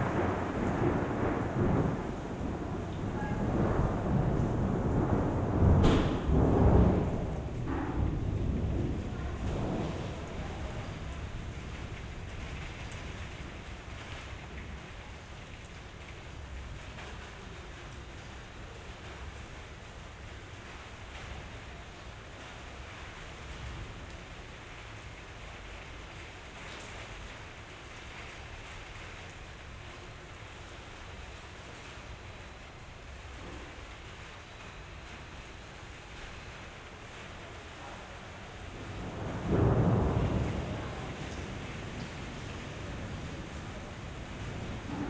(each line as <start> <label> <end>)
0.0 thunder 18.2
0.0 light rain 45.0
38.4 thunder 45.0